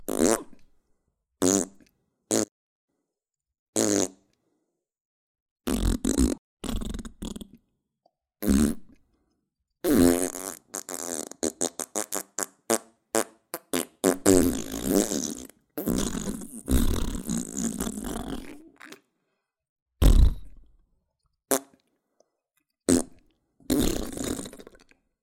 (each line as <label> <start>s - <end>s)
fart noises with my mouth 0.0s - 0.6s
fart noises with my mouth 1.4s - 2.5s
fart noises with my mouth 3.8s - 4.2s
fart noises with my mouth 5.7s - 7.6s
fart noises with my mouth 8.4s - 9.0s
fart noises with my mouth 9.8s - 18.8s
fart noises with my mouth 20.0s - 20.6s
fart noises with my mouth 21.5s - 21.8s
fart noises with my mouth 22.9s - 24.9s